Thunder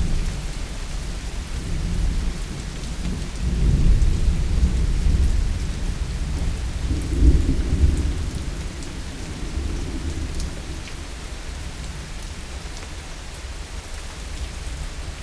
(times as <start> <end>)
3.5 8.8